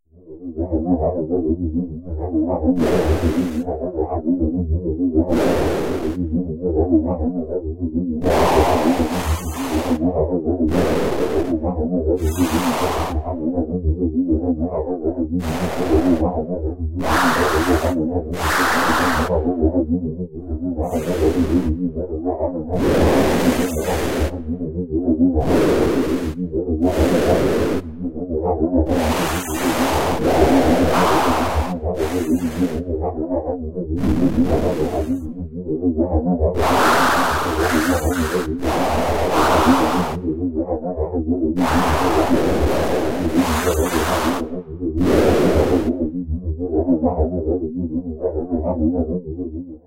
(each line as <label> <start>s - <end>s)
artificially created machine or machinery sounds 2.7s - 4.1s
artificially created machine or machinery sounds 8.2s - 13.5s
artificially created machine or machinery sounds 15.4s - 46.2s